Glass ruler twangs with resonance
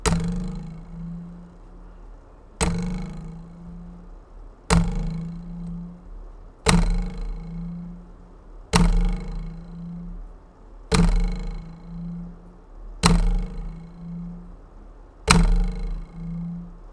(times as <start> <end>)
0.0 2.0, 2.6 6.1, 6.7 8.2, 8.8 10.2, 13.0 14.5